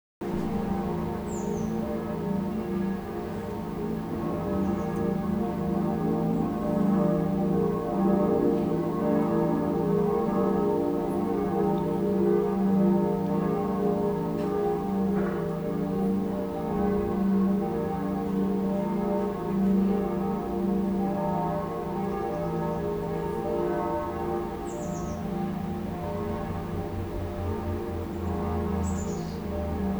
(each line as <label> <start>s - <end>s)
Church bells ringing 0.2s - 29.9s
Birds are chirping 0.5s - 1.8s
Birds are chirping 24.6s - 25.3s
Birds are chirping 28.1s - 29.9s